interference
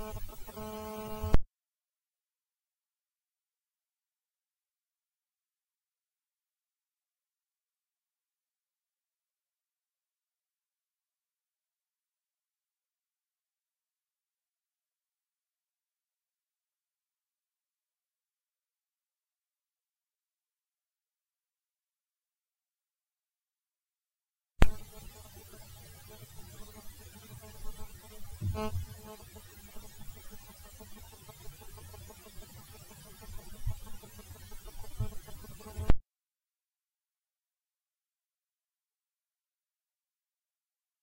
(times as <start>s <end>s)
0.0s 1.4s, 24.6s 36.0s